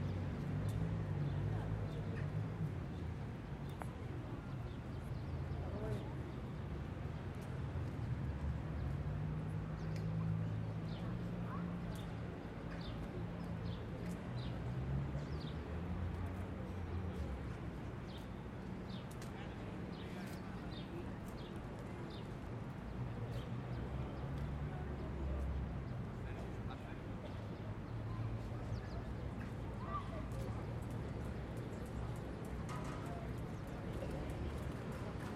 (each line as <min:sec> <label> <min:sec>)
0:00.0 people passing by 0:35.3
0:23.1 People talking 0:35.3